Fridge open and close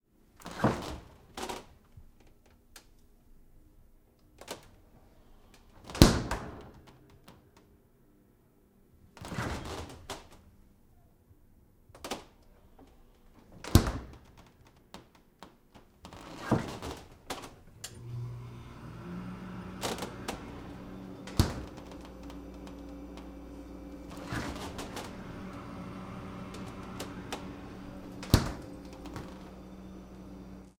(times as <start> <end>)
0.4 1.6, 5.8 6.8, 9.2 10.4, 13.4 14.4, 16.0 30.8